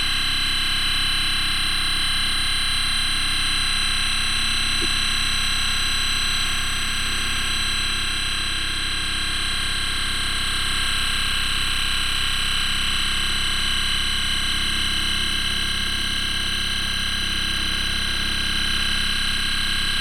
electromagnetic scan of a main railway 0:00.1 - 0:20.0

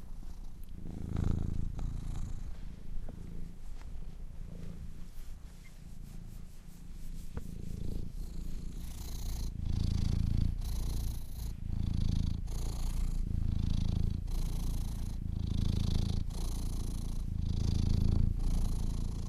cat purring 0:00.0 - 0:19.2
Cleaning Fur 0:04.9 - 0:09.3

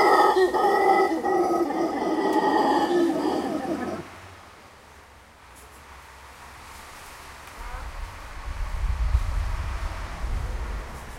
Howler monkeys 0:00.0 - 0:04.2

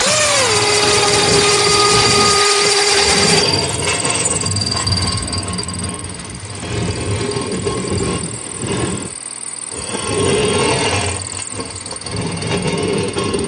drill 0:00.0 - 0:13.4
generator 0:00.0 - 0:13.4
machinery 0:00.0 - 0:13.4
saw 0:00.0 - 0:13.4

